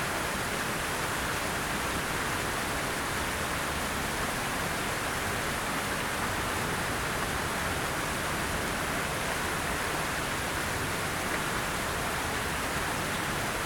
0.0s droplets on the Northeast side of the fountain's center 13.6s

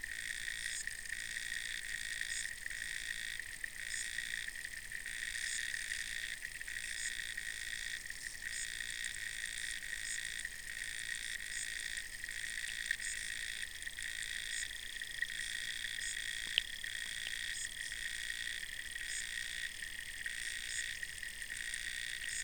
15.8s underwater sounds 18.0s

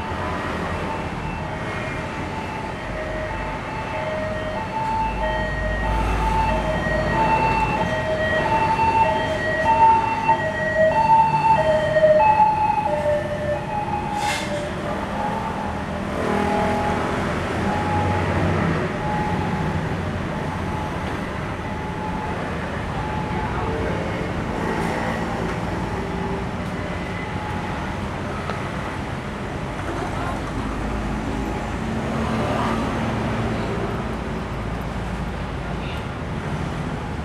0.0s Traffic Noise 37.2s

